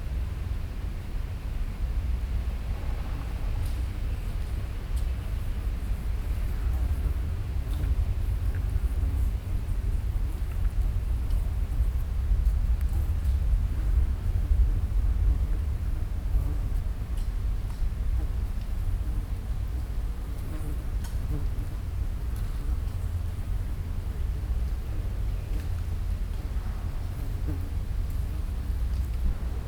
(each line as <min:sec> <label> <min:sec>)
0:00.1 huge building site 0:20.4
0:21.8 huge building site 0:29.6